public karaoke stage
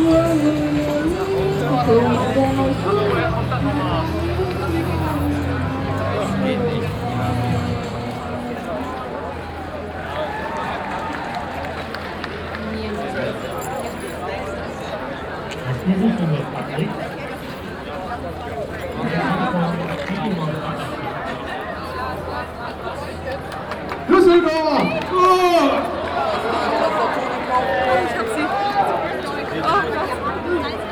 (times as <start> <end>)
0.0 9.6